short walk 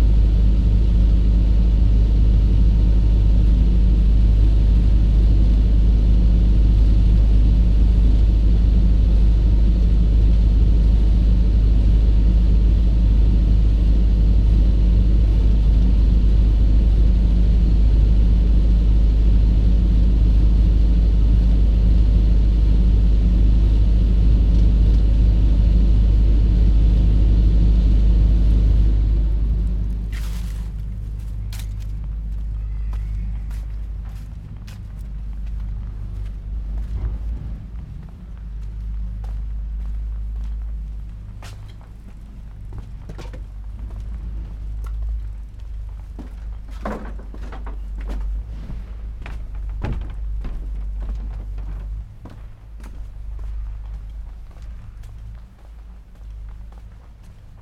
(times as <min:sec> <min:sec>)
0:29.7 0:57.6